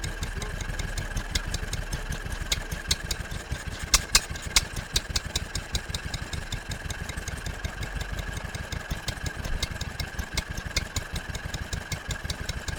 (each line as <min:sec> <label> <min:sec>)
0:00.0 standing single cylinder engine ... chugging along 0:12.7
0:00.0 twin cylinder milking machine is started up 0:06.5